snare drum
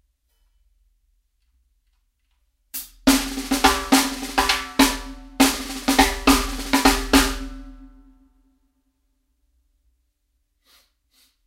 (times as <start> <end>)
2.8 7.8